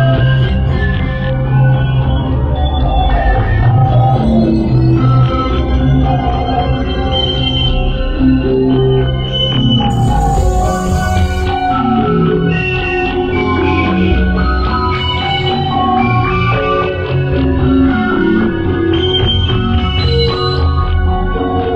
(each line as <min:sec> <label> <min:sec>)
0:00.0 dark ambient composition 0:21.7